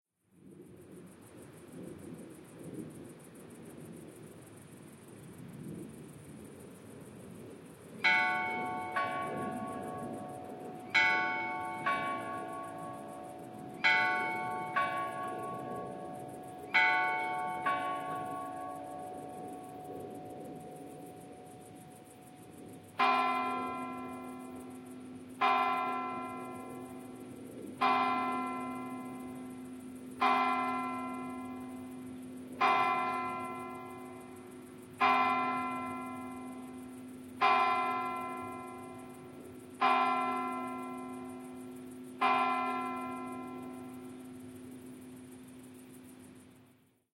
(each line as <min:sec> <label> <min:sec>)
0:00.2 crickets 0:47.1
0:08.0 Cathedral church bells 0:21.5
0:23.0 Cathedral church bells 0:44.8